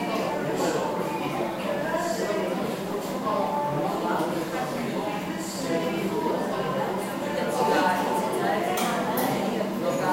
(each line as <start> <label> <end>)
0.0 people 10.1